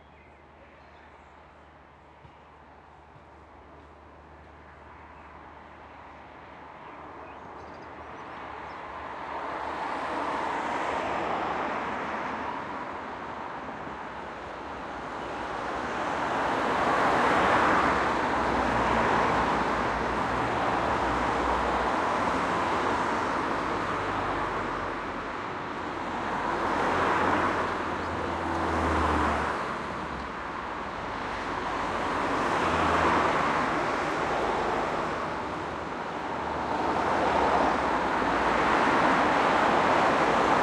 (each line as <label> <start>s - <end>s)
cars pass by 0.0s - 40.6s
birds 6.7s - 8.9s